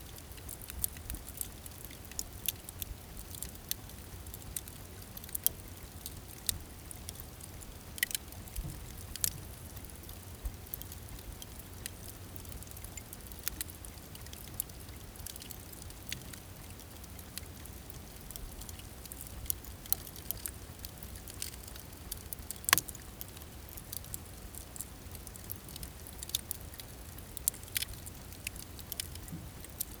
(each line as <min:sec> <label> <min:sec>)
0:00.0 fireplace (Crackling) 0:30.0